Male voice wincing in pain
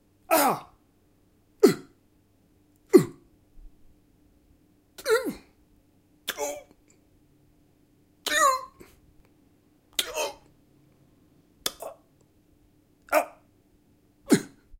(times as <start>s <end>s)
0.3s 0.7s